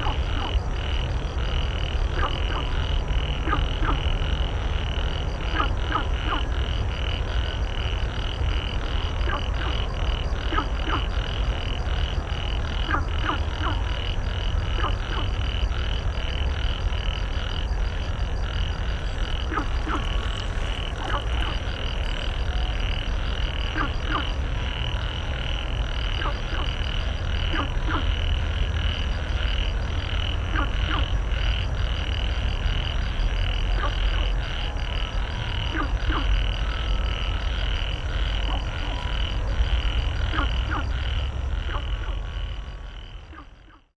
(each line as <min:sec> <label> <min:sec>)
0:00.0 traffic sound 0:43.9
0:00.0 Frog chirping 0:43.9